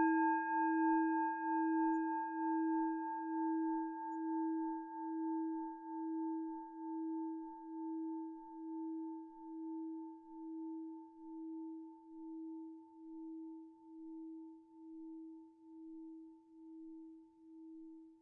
0.0s antique singing bowl 17.0s

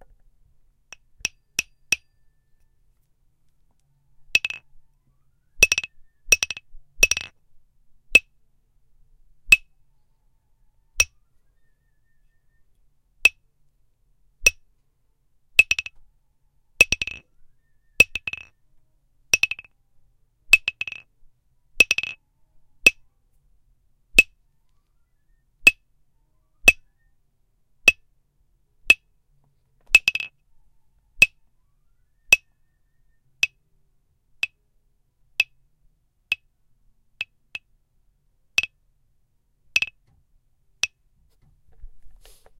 0.9s small wood block hit with a hard plastic mallet 2.1s
4.3s small wood block hit with a hard plastic mallet 4.7s
5.6s small wood block hit with a hard plastic mallet 7.3s
15.6s small wood block hit with a hard plastic mallet 16.0s
16.8s small wood block hit with a hard plastic mallet 17.3s
18.0s small wood block hit with a hard plastic mallet 18.6s
19.3s small wood block hit with a hard plastic mallet 19.7s
20.5s small wood block hit with a hard plastic mallet 21.1s
21.8s small wood block hit with a hard plastic mallet 22.2s
26.6s small wood block hit with a hard plastic mallet 26.8s
29.9s small wood block hit with a hard plastic mallet 30.4s
39.8s small wood block hit with a hard plastic mallet 40.0s

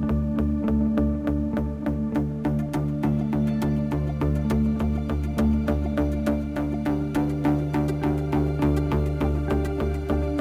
0.0s guitar 10.4s

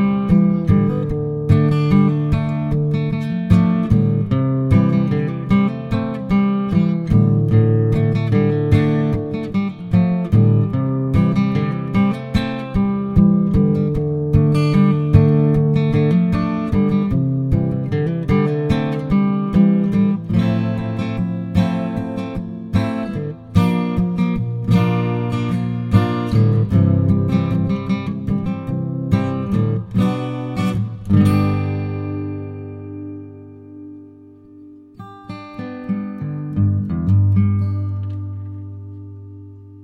0.0s guitar 39.8s

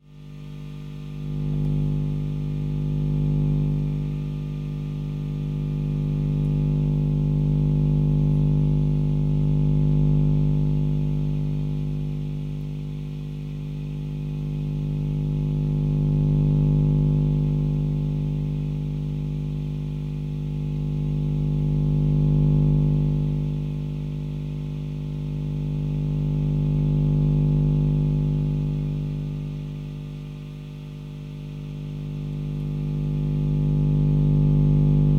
0.0s electronic noise amplifier 35.1s

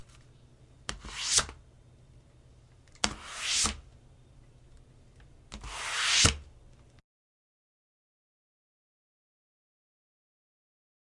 3.1s hard object sliding across desk 3.8s
5.6s hard object sliding across desk 6.4s

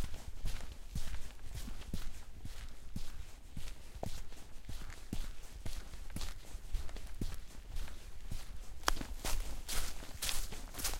8.9s Steps through branches and mud 10.9s

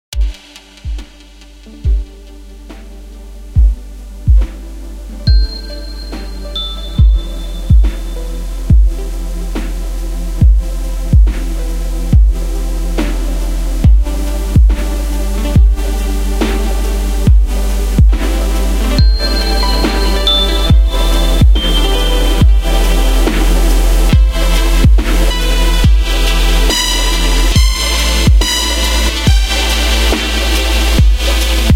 0.0s bass 31.7s
0.1s snare 1.9s
0.1s pads 31.7s
0.1s synths 31.7s
2.7s snare 3.2s
3.6s lead 31.7s
4.4s snare 4.8s
5.3s hats 31.7s
5.9s snare 8.7s
7.0s kick 8.1s
8.7s kick 9.0s
9.5s snare 10.4s
10.4s kick 11.5s
11.2s snare 11.8s
12.9s snare 13.9s
13.8s kick 14.8s
14.6s snare 15.6s
16.4s snare 17.4s
17.3s kick 18.2s
18.0s snare 31.7s
24.1s kick 25.2s

